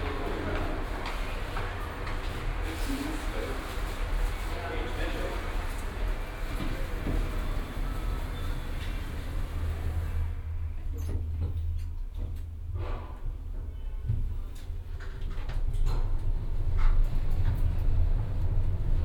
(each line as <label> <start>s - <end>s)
station elevator 0.0s - 19.0s